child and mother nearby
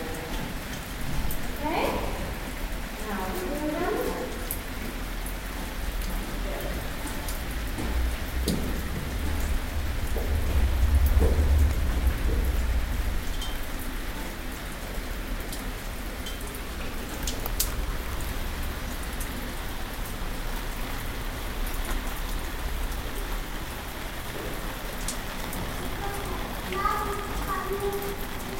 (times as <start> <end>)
25.8 28.5